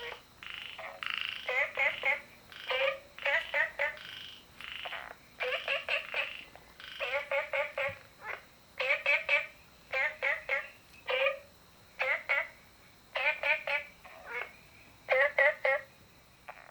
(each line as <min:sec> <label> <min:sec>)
0:00.0 Frogs chirping 0:16.7